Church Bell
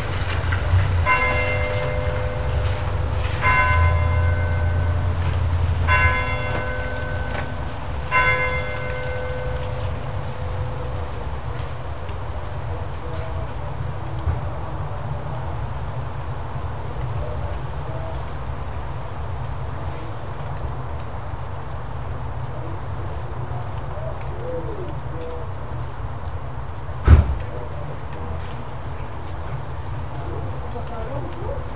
0.0s 12.2s

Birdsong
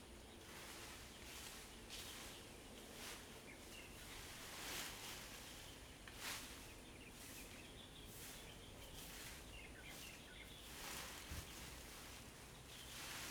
5.4s 13.3s

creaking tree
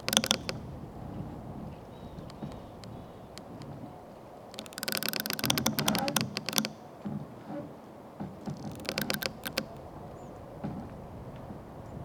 0.0s 7.3s, 8.3s 10.1s

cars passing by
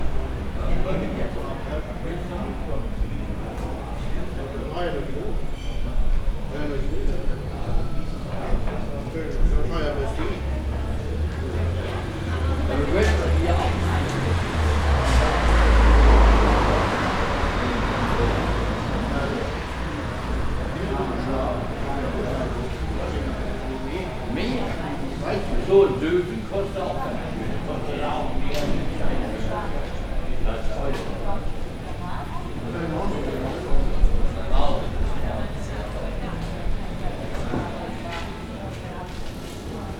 9.8s 38.6s

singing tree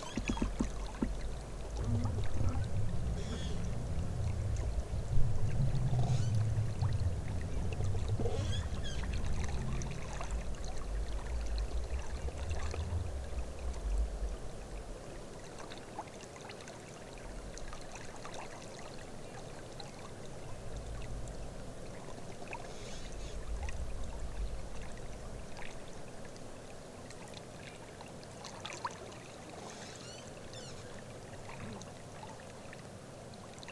2.4s 3.8s, 29.7s 31.0s

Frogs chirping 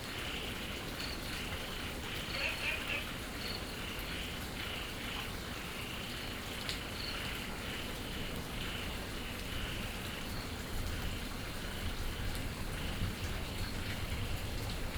0.2s 10.6s

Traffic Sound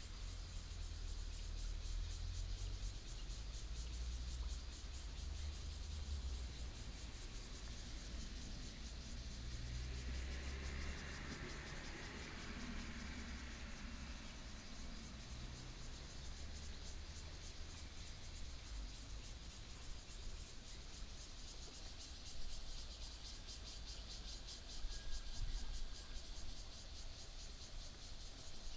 4.8s 19.5s

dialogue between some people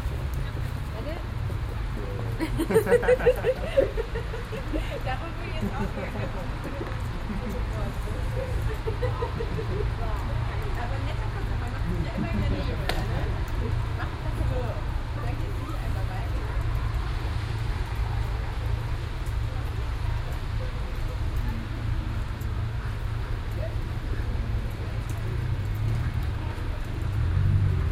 0.4s 16.8s

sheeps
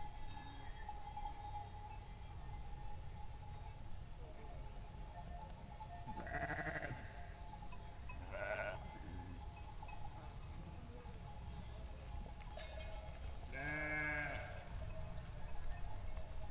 4.4s 16.5s

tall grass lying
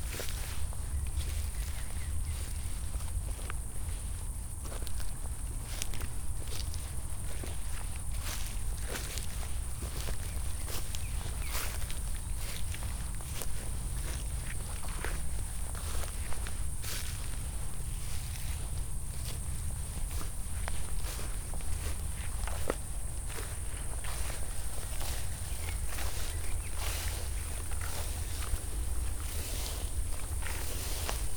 7.4s 31.3s

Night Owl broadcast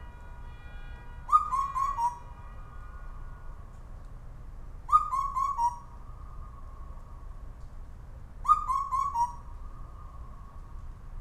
1.3s 2.3s, 4.9s 7.4s, 8.4s 10.8s

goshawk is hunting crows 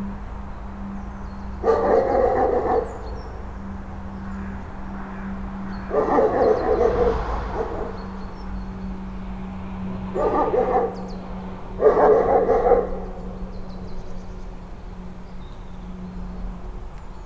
1.6s 8.4s

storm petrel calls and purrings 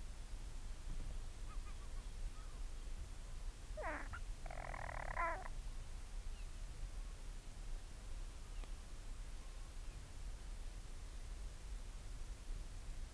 3.8s 5.5s

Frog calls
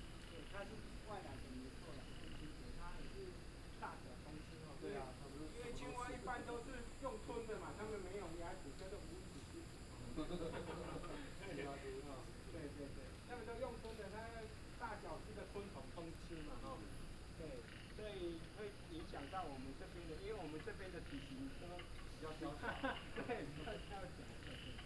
17.6s 19.6s

